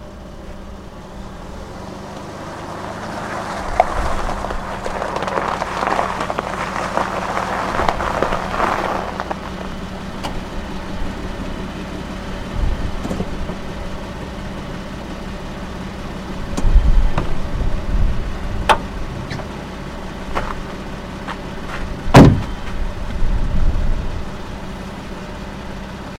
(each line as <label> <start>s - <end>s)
Car drives up on a gravel road 0.0s - 26.1s
engine idle 0.0s - 26.1s